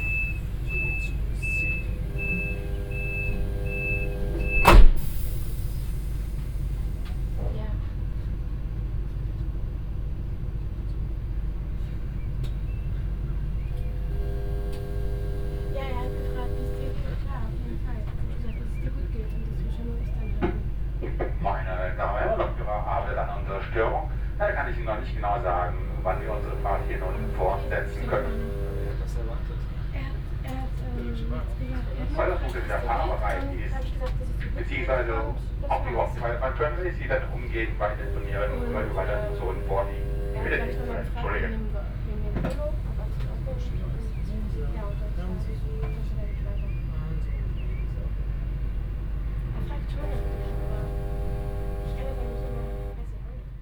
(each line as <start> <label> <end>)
0.0 strange periodic hum from a hidden control panel 4.8
0.0 a train passes at the opposite track 53.5
0.0 people waiting in and outside, making phone calls, talking 53.6
11.6 strange periodic hum from a hidden control panel 53.6